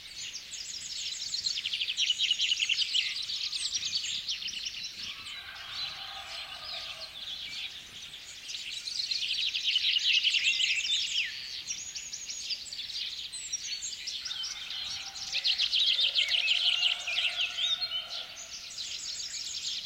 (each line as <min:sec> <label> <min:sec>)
0:00.0 lots of bird species in foreground 0:19.8
0:05.0 distant rooster 0:07.7
0:14.3 distant rooster 0:19.2